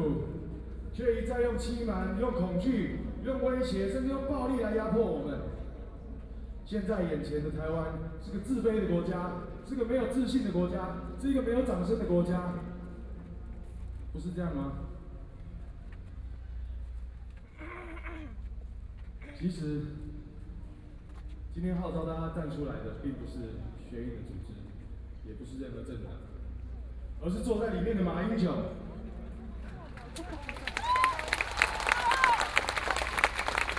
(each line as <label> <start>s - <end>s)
People cheering 29.8s - 33.7s